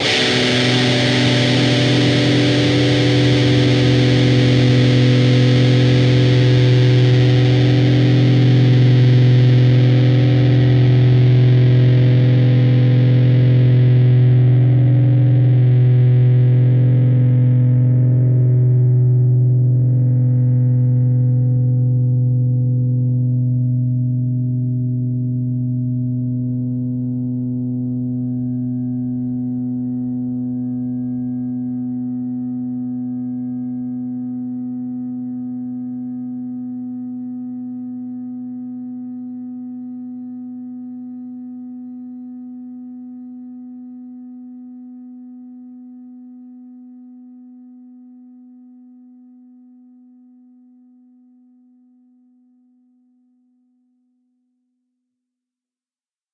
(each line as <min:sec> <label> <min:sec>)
0:00.0 distorted guitar 0:40.3